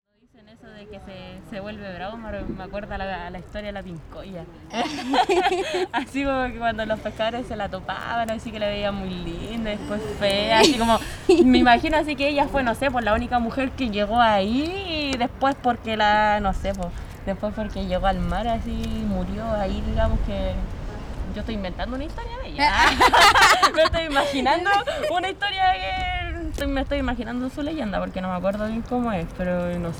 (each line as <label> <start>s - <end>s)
woman explaining a exert of the Chilean legend 6.0s - 20.6s